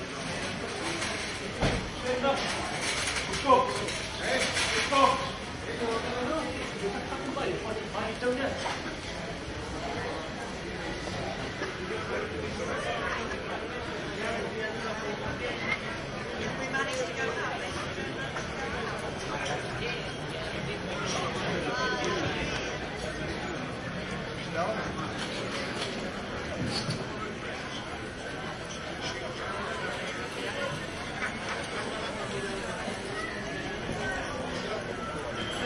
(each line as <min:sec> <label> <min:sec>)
0:00.0 tourists chatting 0:35.6